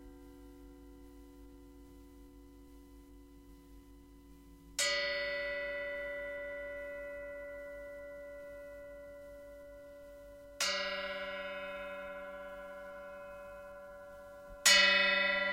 bells 0:04.8 - 0:15.5

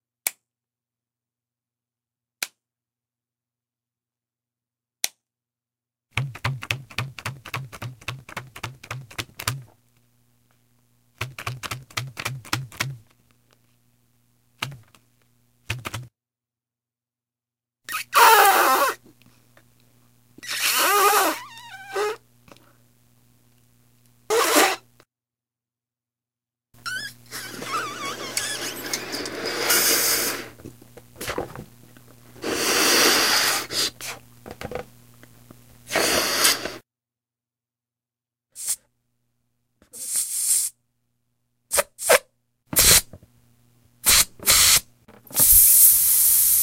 balloon blowing up 0:17.9 - 0:19.0
tying the balloon off 0:20.4 - 0:22.2
balloon blowing up 0:20.4 - 0:22.2
balloon blowing up 0:24.3 - 0:24.9
tying the balloon off 0:24.3 - 0:24.8
squeaks 0:26.8 - 0:29.1
balloon blowing up 0:26.8 - 0:30.6
balloon blowing up 0:32.4 - 0:34.2
balloon blowing up 0:35.9 - 0:36.8
balloon blowing up 0:42.8 - 0:43.2
tying the balloon off 0:42.8 - 0:43.2
tying the balloon off 0:44.0 - 0:46.6
balloon blowing up 0:44.0 - 0:46.6

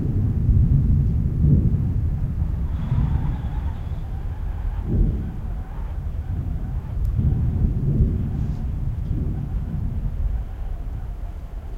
Tin roof, hollow booming, rumbling 0:00.0 - 0:11.7
whistling wind 0:00.0 - 0:11.7

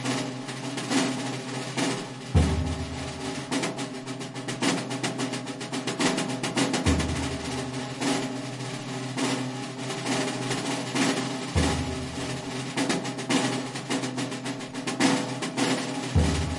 solemn drum ruffle 0:00.0 - 0:16.5

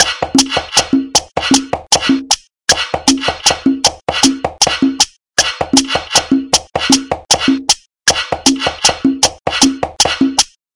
drum pattern 0:00.0 - 0:10.6

